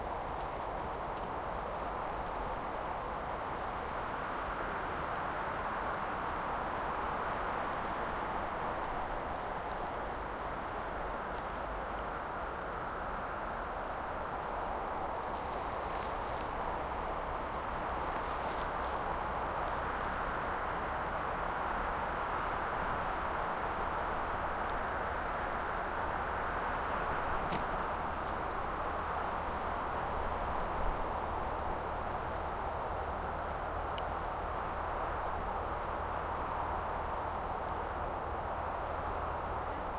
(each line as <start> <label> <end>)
0.0 wind on Casuarina trees 39.9